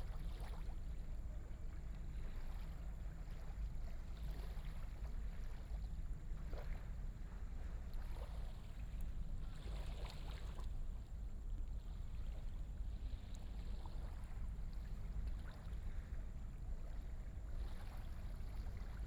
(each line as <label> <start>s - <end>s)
tide 0.0s - 19.0s